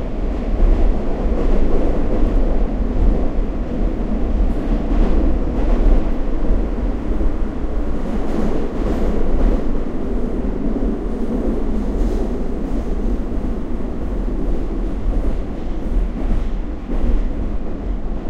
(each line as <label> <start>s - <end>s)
train 0.0s - 18.2s